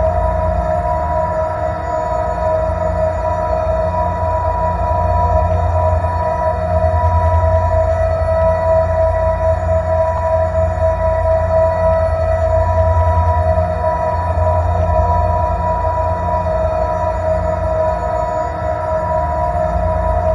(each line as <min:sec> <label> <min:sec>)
0:00.0 alien spaceship engine 0:20.3